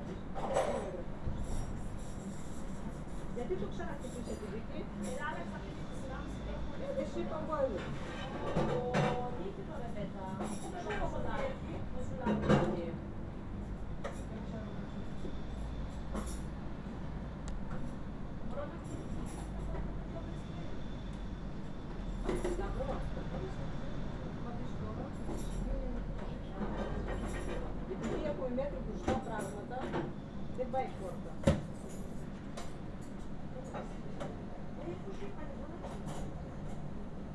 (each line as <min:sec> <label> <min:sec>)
0:00.0 Woman working in a kitchen 0:37.3
0:03.4 Woman talking 0:13.1
0:18.5 Woman talking 0:20.8
0:22.3 Woman talking 0:30.0
0:30.6 Woman talking 0:31.4
0:34.8 Woman talking 0:36.1